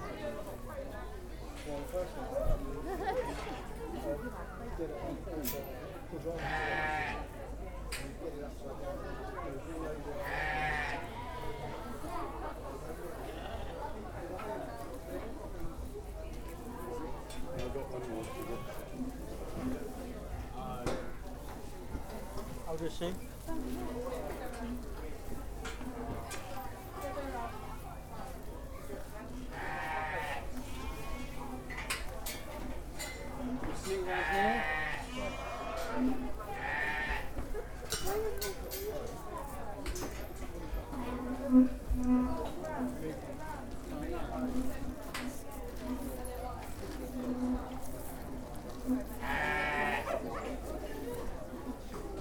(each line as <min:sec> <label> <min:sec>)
0:06.4 sheep 0:07.3
0:10.0 sheep 0:14.9
0:25.7 sheep 0:32.4
0:33.0 sheep 0:52.1